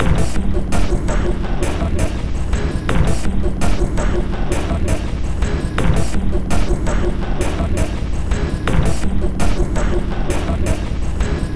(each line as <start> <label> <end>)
0.0 Drum Loop 11.5